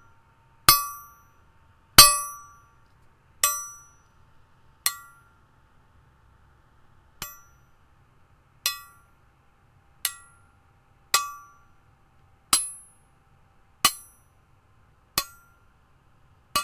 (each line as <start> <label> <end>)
2.0 Hitting a metal trowel 2.5